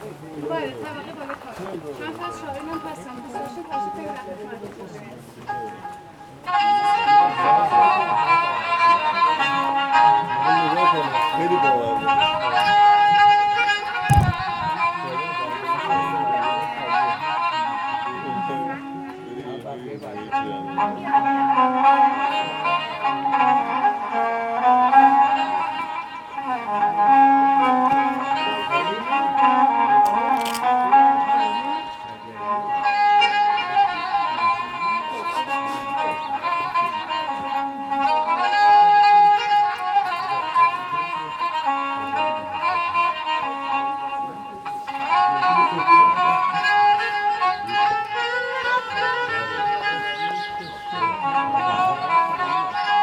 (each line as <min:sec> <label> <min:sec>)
0:00.0 Music 0:53.0
0:13.9 Hiking 0:15.0
0:29.1 Hiking 0:32.0